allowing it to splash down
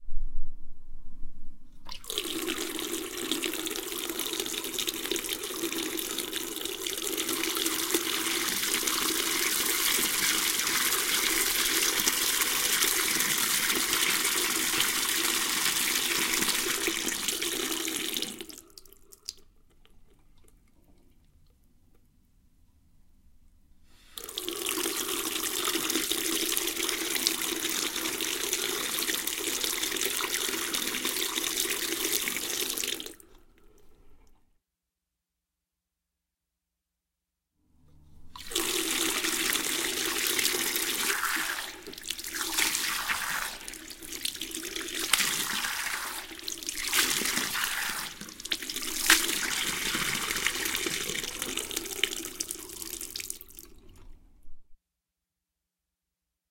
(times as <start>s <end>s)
45.0s 53.8s